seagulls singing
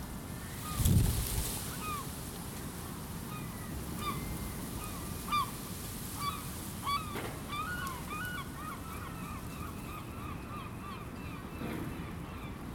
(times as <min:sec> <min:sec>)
0:06.2 0:12.7